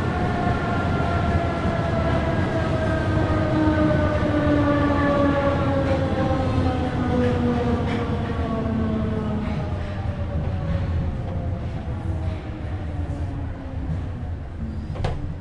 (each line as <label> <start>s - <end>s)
train starts and continues to next station and stops 0.0s - 15.4s
doors closing 14.7s - 15.4s